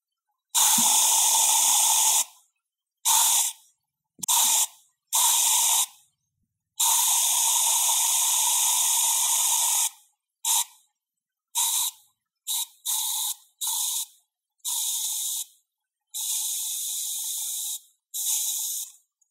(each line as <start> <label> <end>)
0.6 spraying sound I made using an air freshener spray 2.3
3.1 spraying sound I made using an air freshener spray 3.6
4.2 spraying sound I made using an air freshener spray 5.9
6.8 spraying sound I made using an air freshener spray 10.8
11.6 spraying sound I made using an air freshener spray 15.5
16.2 spraying sound I made using an air freshener spray 19.0